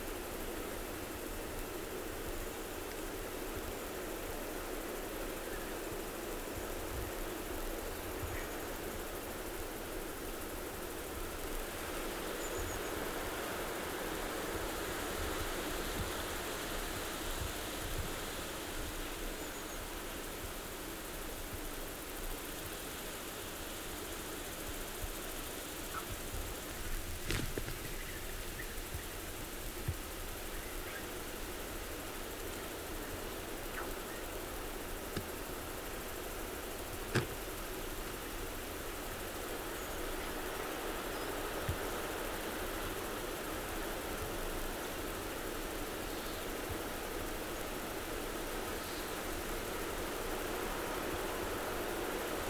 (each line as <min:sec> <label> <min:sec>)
0:00.0 cicadas 0:52.4
0:25.2 birds 0:42.9